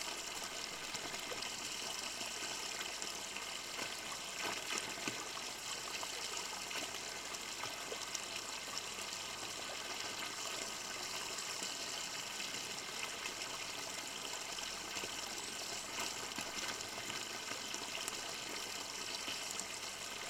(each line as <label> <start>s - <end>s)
the fountain 0.0s - 20.2s